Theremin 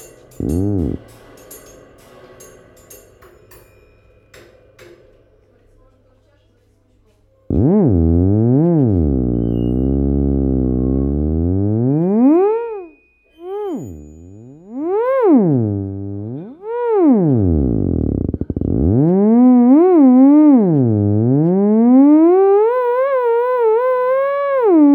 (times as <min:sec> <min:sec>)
0:00.4 0:01.0, 0:07.5 0:24.9